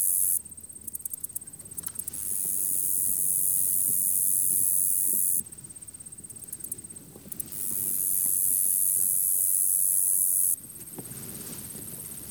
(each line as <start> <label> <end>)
0.0 insect chorus 10.8